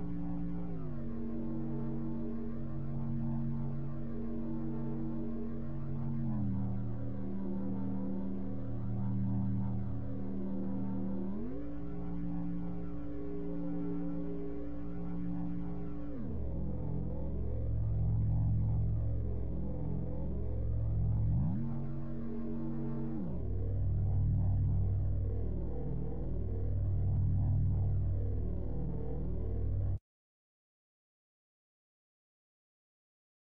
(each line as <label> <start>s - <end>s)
dark drone 0.0s - 30.0s